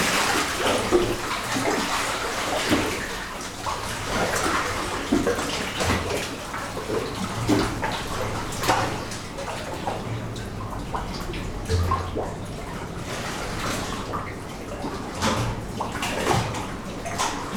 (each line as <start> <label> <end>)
0.0 splashings 9.8
0.0 waves breaking just along the coast 11.6